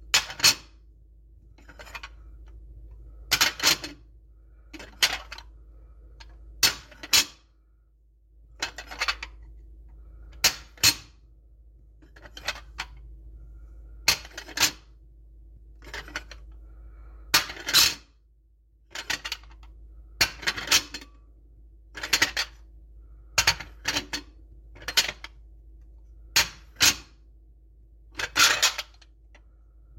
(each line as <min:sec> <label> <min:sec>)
0:03.3 stack of plates picking up and putting down 0:04.0
0:12.0 stack of plates picking up and putting down 0:13.0
0:14.1 stack of plates picking up and putting down 0:14.8
0:15.8 stack of plates picking up and putting down 0:16.5
0:20.2 stack of plates picking up and putting down 0:21.1
0:22.0 stack of plates picking up and putting down 0:22.6
0:23.4 stack of plates picking up and putting down 0:25.4
0:28.2 stack of plates picking up and putting down 0:29.1